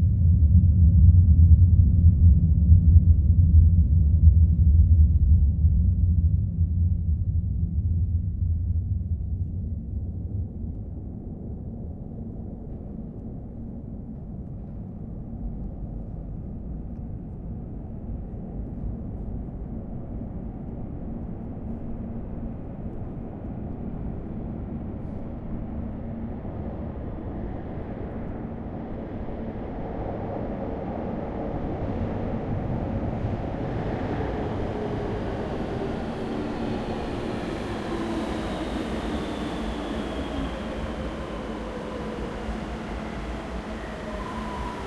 metro arrival 24.2 - 44.8

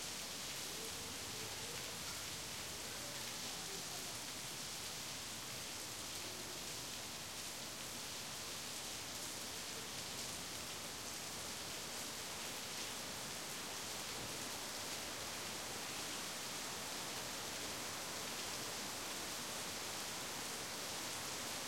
heavy summer shower 0.0 - 21.6
child's voice 1.4 - 4.1

